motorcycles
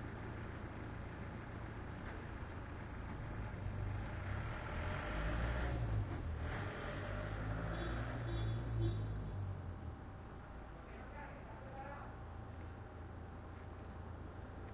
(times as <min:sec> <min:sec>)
0:02.5 0:09.8